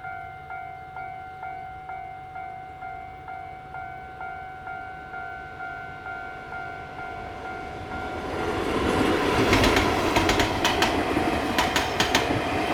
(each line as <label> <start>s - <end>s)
The train runs through 0.0s - 12.7s
Traffic sound 7.2s - 12.7s